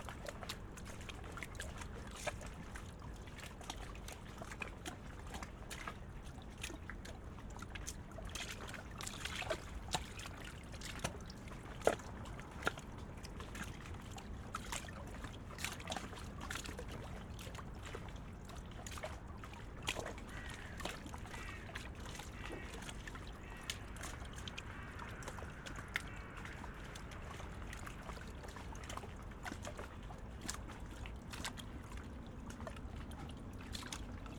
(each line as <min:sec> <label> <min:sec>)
0:09.4 river spree 0:34.3
0:20.2 many dun crows 0:27.6